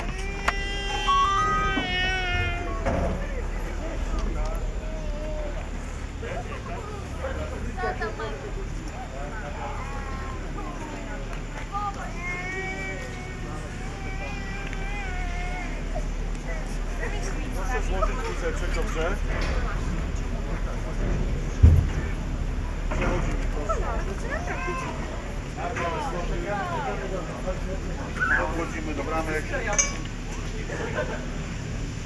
through gates 0.0 - 7.7
Ski lift ride 0.0 - 32.0

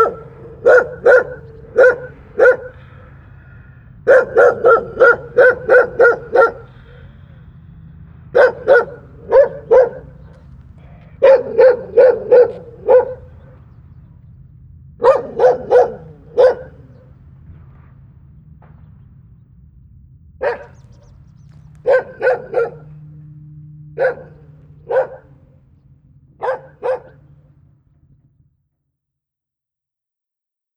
old yard dog barking 0.0 - 7.4
old yard dog barking 8.3 - 13.7
old yard dog barking 15.0 - 17.2
old yard dog barking 20.4 - 27.5

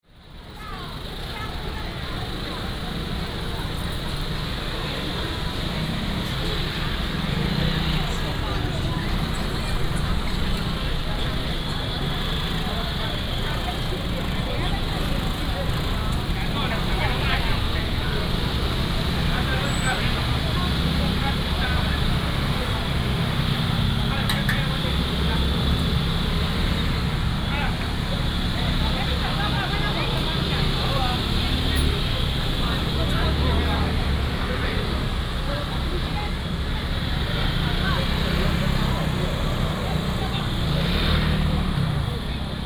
Traffic sound 0.0 - 42.6
motorcycle 0.0 - 42.6
Vendors 0.3 - 42.6

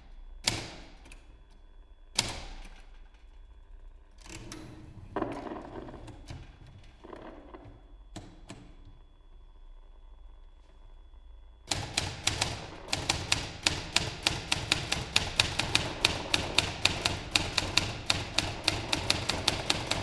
typewriter 11.7 - 20.0

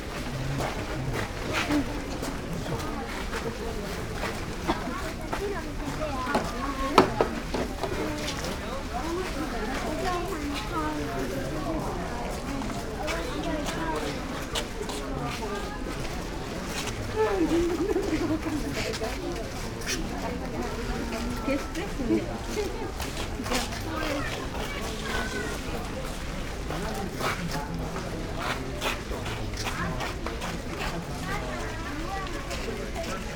murmur of people 0.0 - 33.3

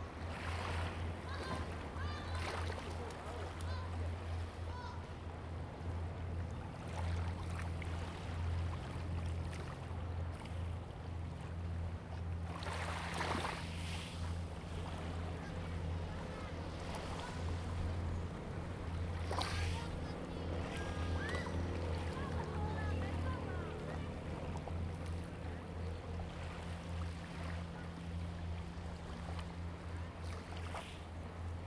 wave 12.3 - 31.6

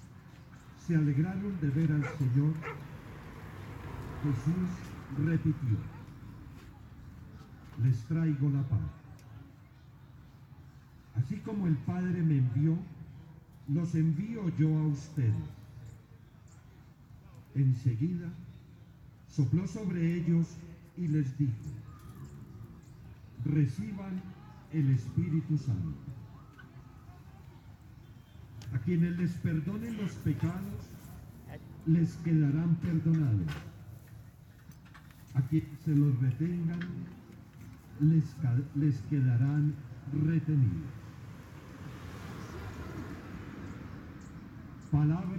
birds sing in the background 0.0 - 45.3
cars and motorcycles passing by 0.0 - 45.3
voices of the people passing by 0.0 - 45.3
the father is praying 0.6 - 2.9
dogs barking 1.9 - 3.0

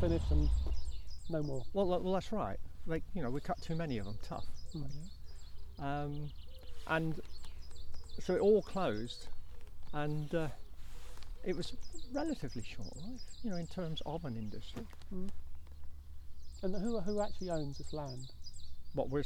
Talk to Dartmoor Park Ranger 0.0 - 5.2
Talk to Dartmoor Park Ranger 11.4 - 15.5
Talk to Dartmoor Park Ranger 16.6 - 19.2

